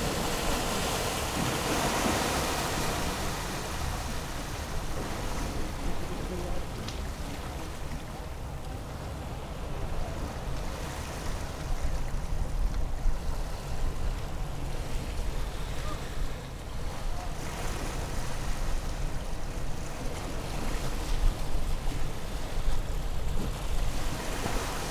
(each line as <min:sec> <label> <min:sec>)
0:00.0 works on the pier 0:24.9